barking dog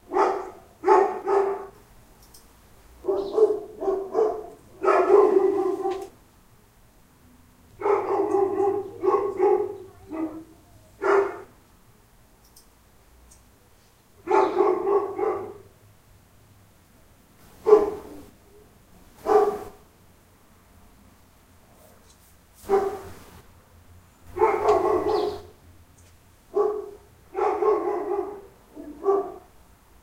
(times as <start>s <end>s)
0.0s 1.8s, 3.0s 6.2s, 7.8s 11.6s, 14.2s 15.7s, 17.6s 18.3s, 19.2s 19.8s, 22.6s 23.2s, 24.3s 25.6s, 26.5s 29.5s